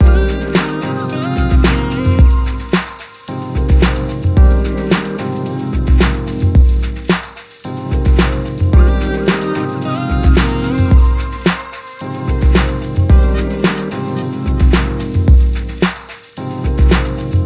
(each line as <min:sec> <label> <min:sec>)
0:00.0 virtual drum machine 0:17.4